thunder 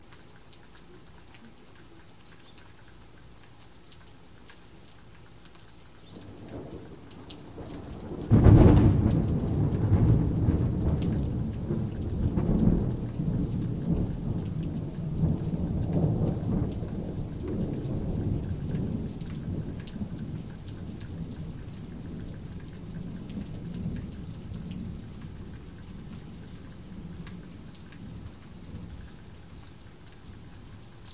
0:06.2 0:25.2

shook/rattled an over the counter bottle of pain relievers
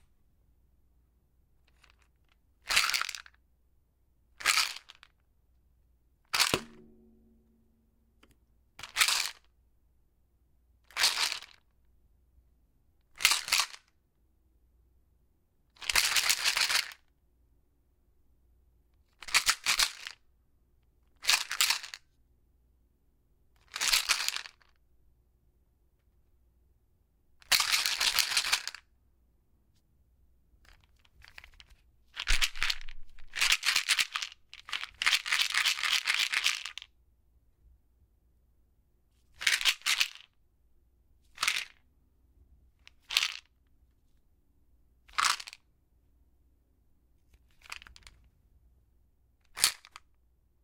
0:42.9 0:43.5, 0:47.4 0:48.2, 0:49.5 0:50.0

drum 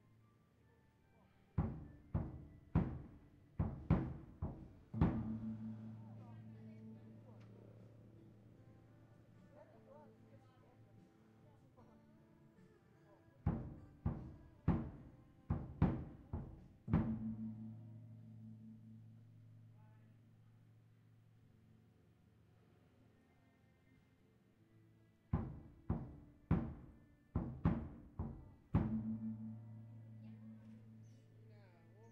0:01.6 0:06.7, 0:13.5 0:18.0, 0:25.4 0:30.9

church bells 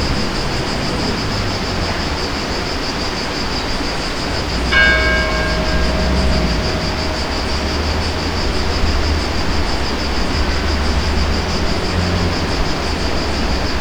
0:03.7 0:13.8

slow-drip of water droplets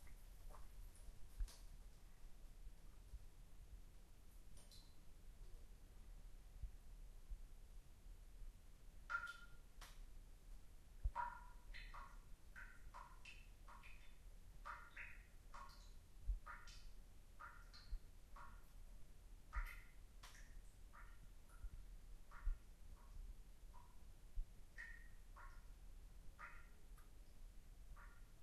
0:04.3 0:05.7, 0:09.0 0:10.2, 0:11.0 0:28.4

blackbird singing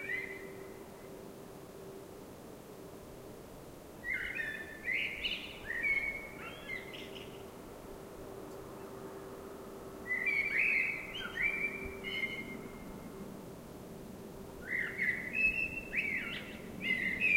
0:00.0 0:00.6, 0:04.0 0:07.3, 0:10.1 0:12.7, 0:14.6 0:17.3

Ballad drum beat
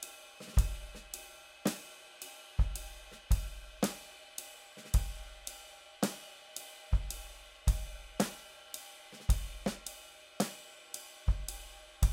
0:00.0 0:04.1, 0:04.8 0:06.2, 0:06.9 0:08.4, 0:09.1 0:10.6, 0:11.2 0:12.1

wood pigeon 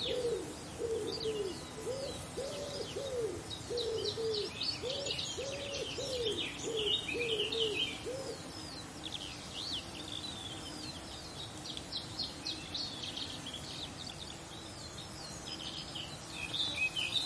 0:00.0 0:08.5

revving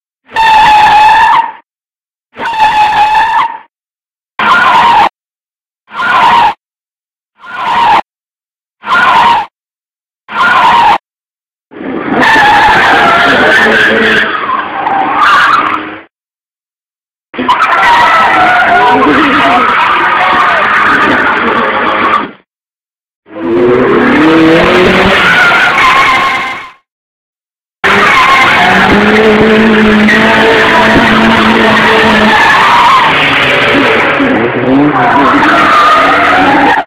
0:23.3 0:26.2, 0:27.8 0:36.7

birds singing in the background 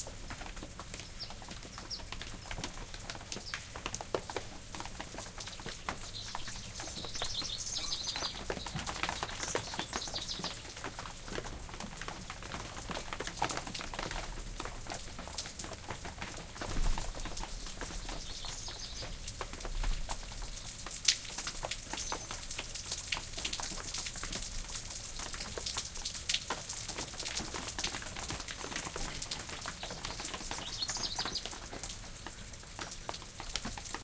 0:00.7 0:11.1, 0:17.0 0:20.9, 0:21.6 0:23.0, 0:27.7 0:32.6

